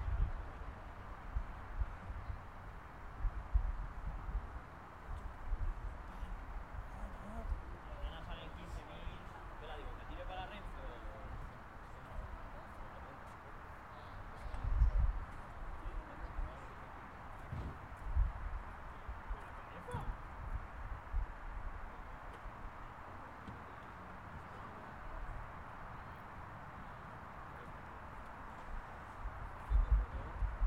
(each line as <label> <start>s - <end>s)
Traffic noise far away 0.0s - 30.6s
People talking far away 6.0s - 30.6s
Cars going in and out 21.7s - 29.6s